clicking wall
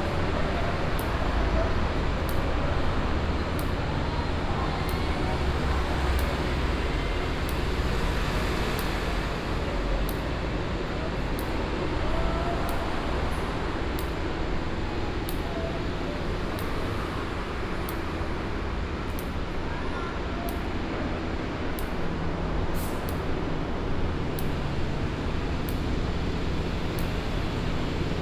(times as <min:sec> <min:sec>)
0:02.2 0:04.0